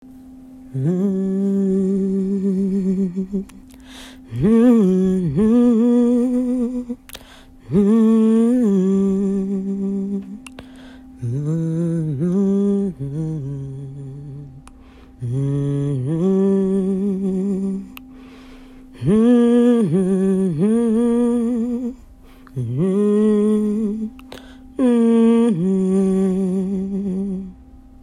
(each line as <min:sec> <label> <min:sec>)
0:00.0 hum 0:28.0